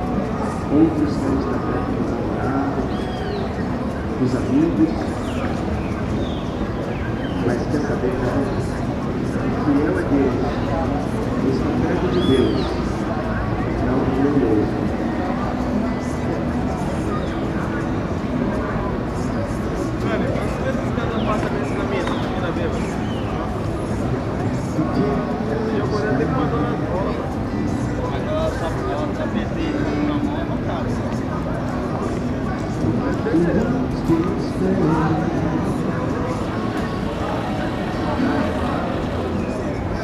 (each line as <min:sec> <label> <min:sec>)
0:00.0 people traveled through the square 0:40.0
0:00.0 sang gospel music 0:40.0
0:00.0 vehicles circulated in the nearby streets 0:40.0
0:00.1 loudspeakers in stores emitted diverse music 0:40.0
0:02.8 caged bird sang 0:04.0
0:04.9 caged bird sang 0:07.8
0:12.1 caged bird sang 0:13.0
0:21.1 caged bird sang 0:23.6